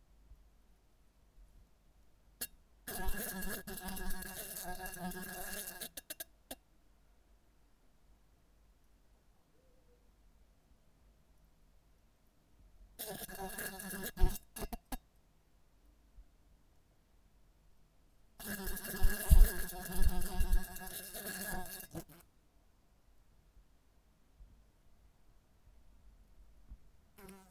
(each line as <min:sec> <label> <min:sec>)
0:18.4 fly trapped itself in a bedside lamp 0:22.2
0:27.2 fly trapped itself in a bedside lamp 0:27.5